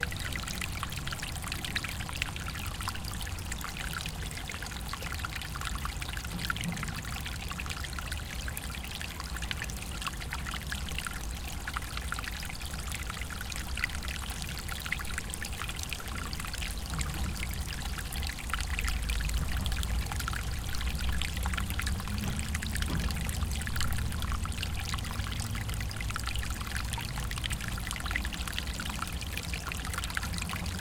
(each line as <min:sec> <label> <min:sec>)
0:00.0 water flow on roll 0:30.8